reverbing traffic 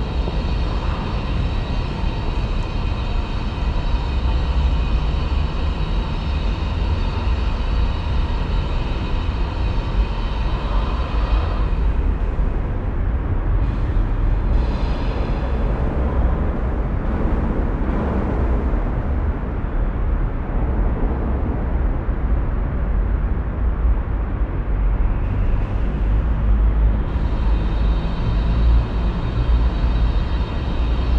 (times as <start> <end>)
25.2 31.1